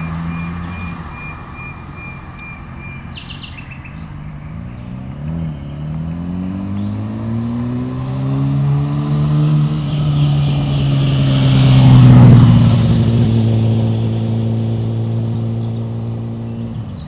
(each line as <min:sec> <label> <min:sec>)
0:00.0 3 nightingales 0:05.8